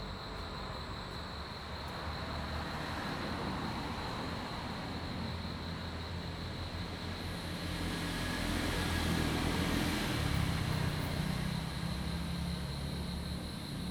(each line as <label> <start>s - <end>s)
insects 0.0s - 13.9s